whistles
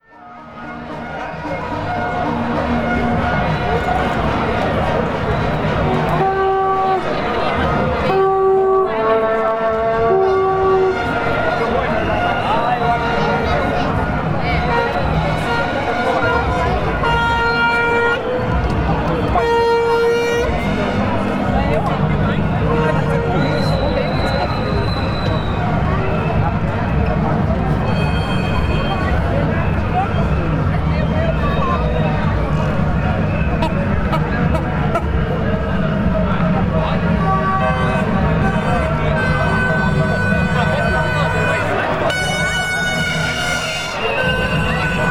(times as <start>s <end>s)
23.4s 26.4s